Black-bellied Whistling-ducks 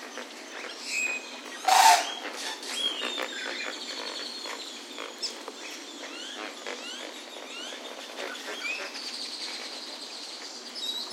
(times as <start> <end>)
0.6 5.1